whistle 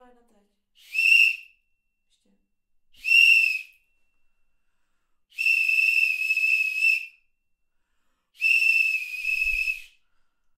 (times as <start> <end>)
0.8 1.7, 3.0 4.2, 5.3 7.3, 8.4 10.0